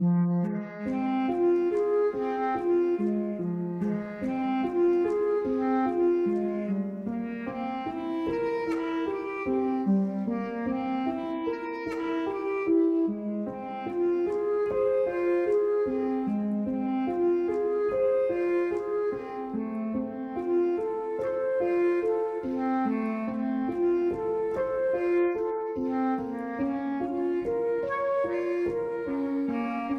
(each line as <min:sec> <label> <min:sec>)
0:00.0 Classical slow violin 0:29.9